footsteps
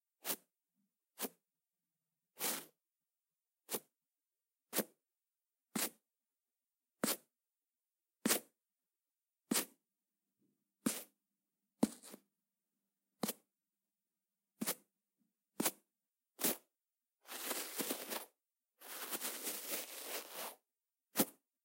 17.3s 20.6s

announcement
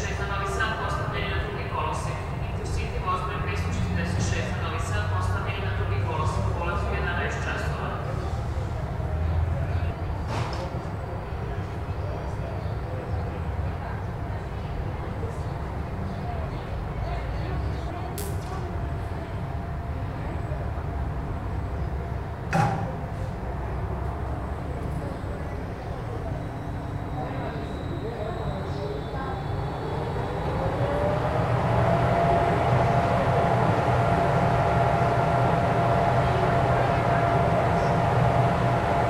0.0s 8.1s, 24.2s 39.0s

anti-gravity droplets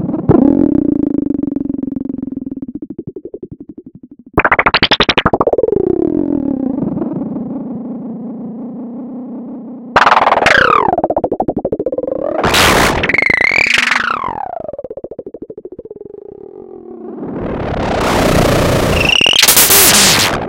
4.4s 5.6s, 10.0s 15.7s

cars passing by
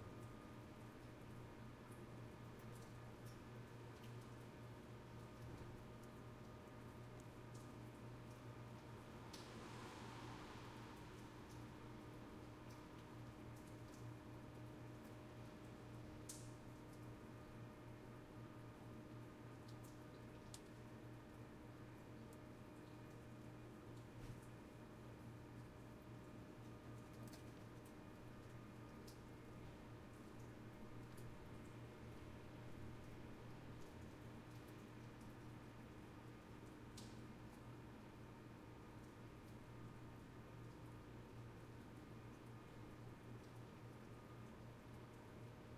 9.5s 11.4s

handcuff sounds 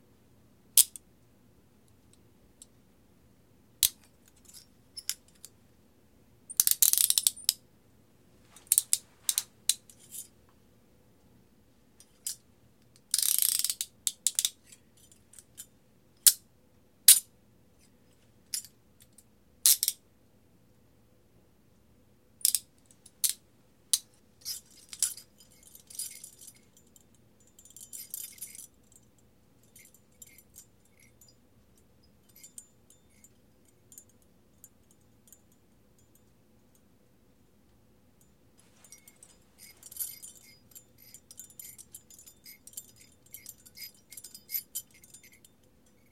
3.8s 5.6s, 6.5s 7.6s, 8.5s 10.4s, 12.0s 16.4s, 22.4s 31.4s, 32.2s 35.4s, 38.6s 46.1s

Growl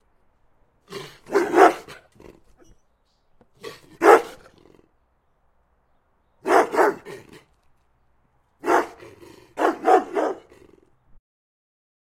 0.9s 2.6s, 3.6s 4.9s, 8.8s 10.9s

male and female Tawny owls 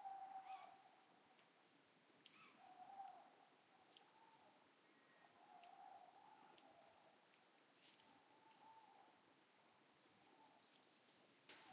0.0s 0.9s, 2.2s 6.9s

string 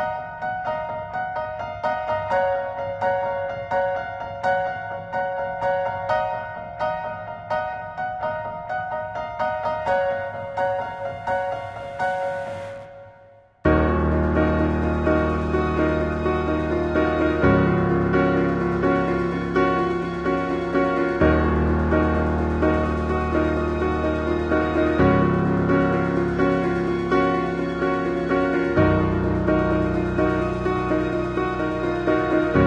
13.7s 32.6s

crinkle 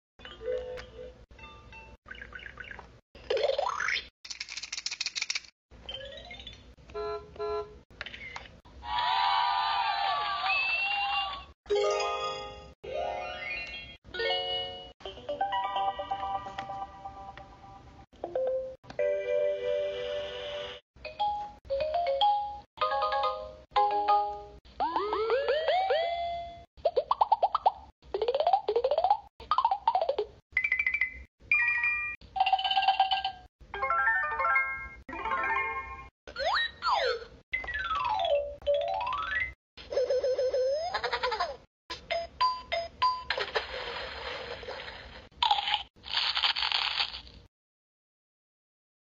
43.4s 47.5s

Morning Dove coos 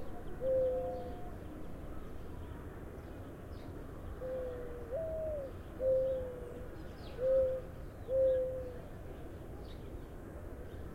0.0s 2.1s, 3.8s 9.4s

